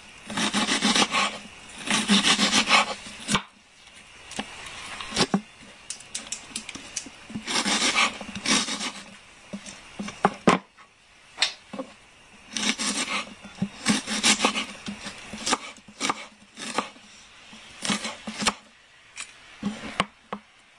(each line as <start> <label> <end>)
0.3 chopping onion 3.5
7.4 chopping onion 9.1
12.5 chopping onion 17.0
17.6 chopping onion 18.7